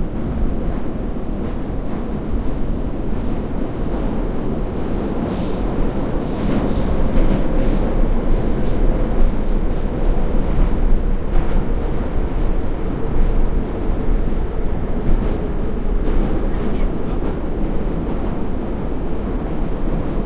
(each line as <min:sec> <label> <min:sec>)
0:00.0 subway ride 0:20.2
0:16.2 people talking 0:17.5